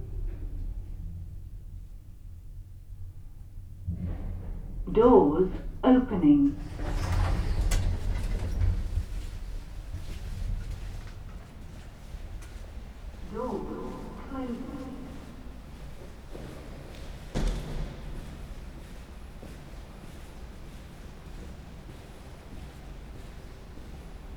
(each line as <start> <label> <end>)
3.8 Going down in the lift 19.5